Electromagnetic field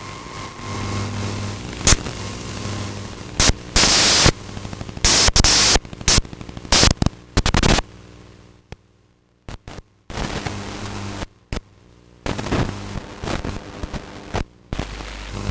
0.0 8.2, 12.3 15.5

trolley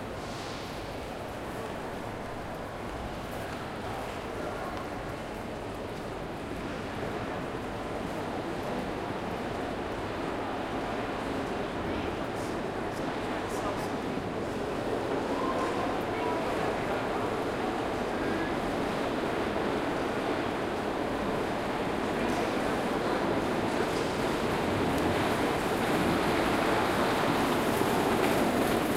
23.7 28.9

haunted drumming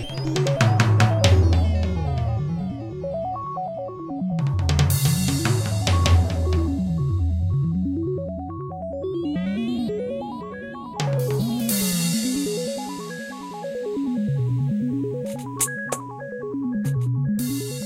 0.0 2.6, 4.4 7.3, 11.0 13.6

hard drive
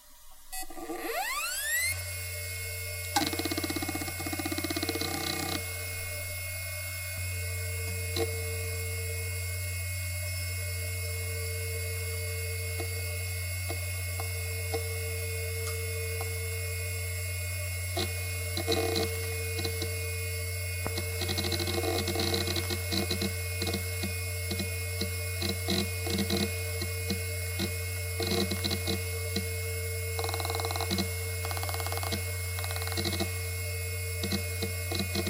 0.0 9.3, 17.9 35.2

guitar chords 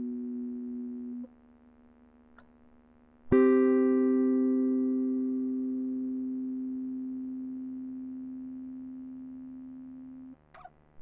0.0 1.3, 3.3 10.7

